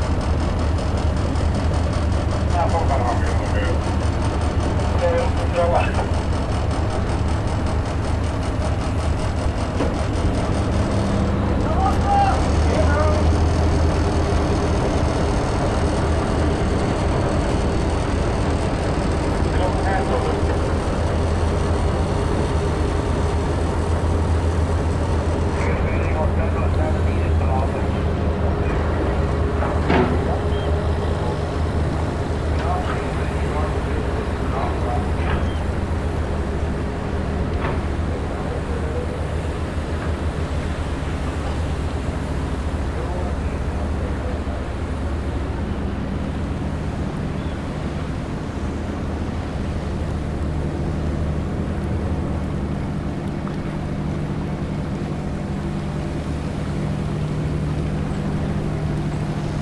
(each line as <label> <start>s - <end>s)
Fisherboats leaving the lock 0.0s - 59.6s
engine noises 0.0s - 59.6s
vhf radio comms 25.5s - 31.4s